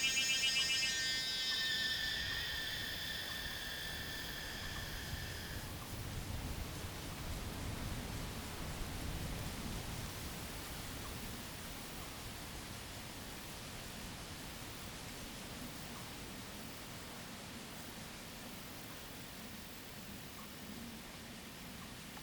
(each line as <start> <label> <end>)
0.0 bird sound 5.8
0.0 Cicada 7.8